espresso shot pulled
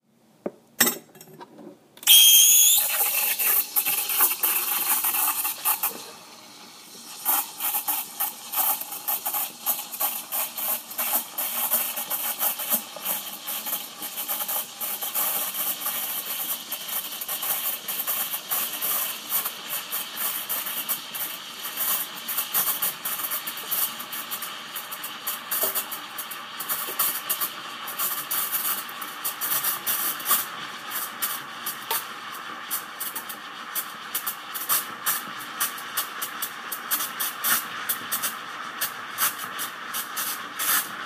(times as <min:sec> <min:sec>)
0:02.0 0:06.2